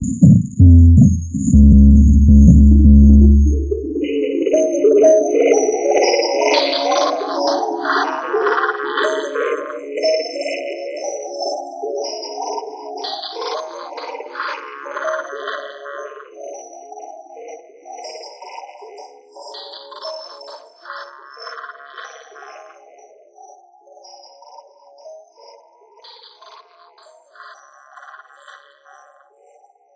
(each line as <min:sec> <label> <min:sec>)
0:00.0 drum synth 0:04.1